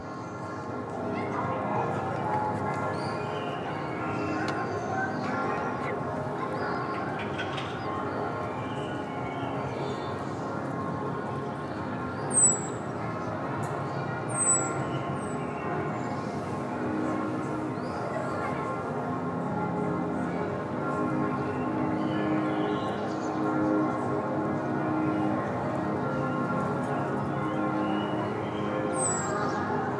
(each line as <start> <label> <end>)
1.2 children playing 8.2
13.0 church bells 29.9